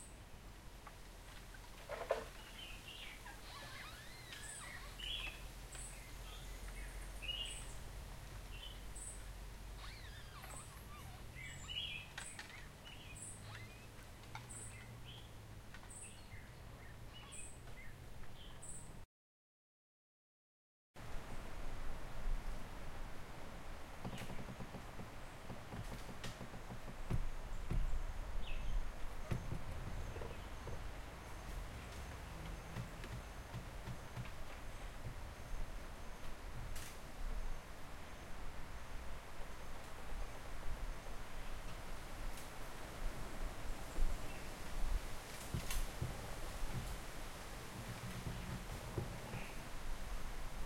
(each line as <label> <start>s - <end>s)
leaves rustle in the wind 0.0s - 19.0s
Bamboos creaks as they hit each others with the wind 0.8s - 16.3s
leaves rustle in the wind 21.0s - 50.6s
Bamboos creaks as they hit each others with the wind 23.7s - 38.8s
Bamboos creaks as they hit each others with the wind 41.3s - 50.6s